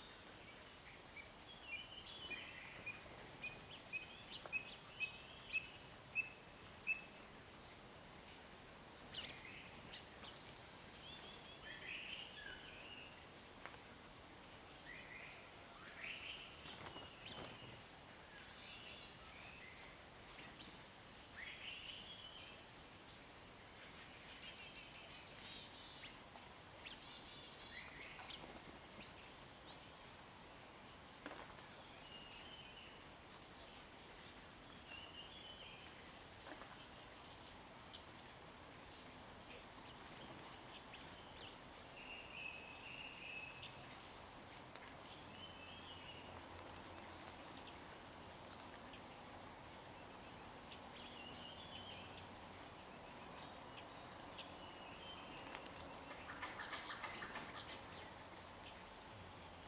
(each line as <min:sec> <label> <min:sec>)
0:39.6 Bird sounds 0:59.0